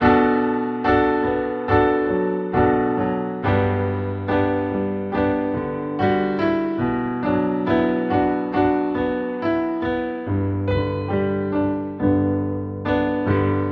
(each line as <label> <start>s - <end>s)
Piano Solo 0.0s - 13.7s